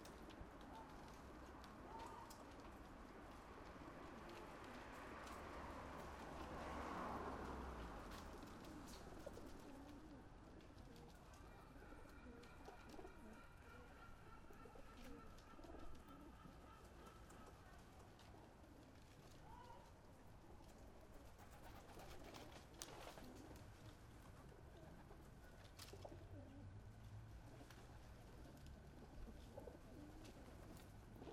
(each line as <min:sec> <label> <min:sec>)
0:00.0 Pigeons Invasion 0:19.8
0:20.7 Pigeons Invasion 0:26.7
0:27.3 Pigeons Invasion 0:31.3